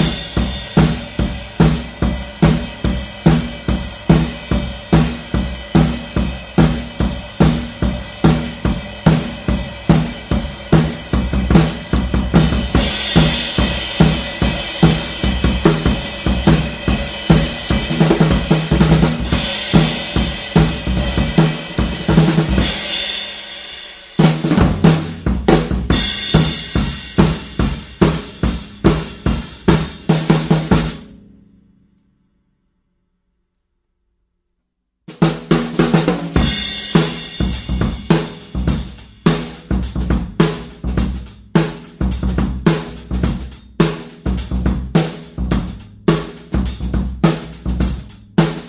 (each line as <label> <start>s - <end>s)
Straight drum beats 0.0s - 31.4s
Straight drum beats 35.1s - 48.6s